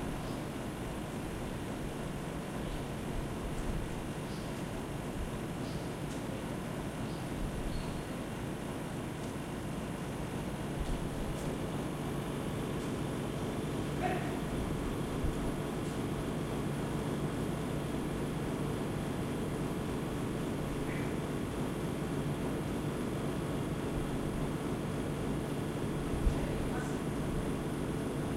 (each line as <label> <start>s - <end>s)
air conditioning fan 0.0s - 28.3s